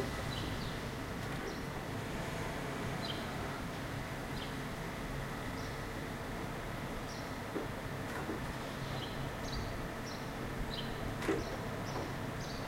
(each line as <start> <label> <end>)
0.0 Birds 1.8
0.0 Cars 12.6
6.8 Birds 12.6